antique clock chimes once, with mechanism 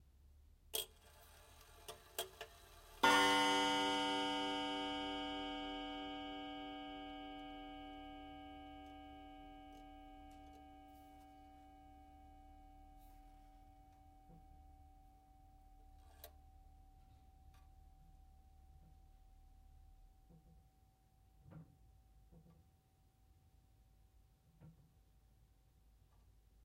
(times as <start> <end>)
3.0 13.0